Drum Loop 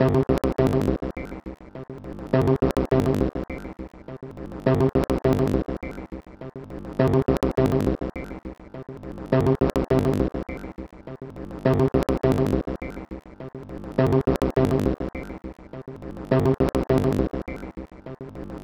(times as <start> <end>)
7.2 8.5, 16.3 18.0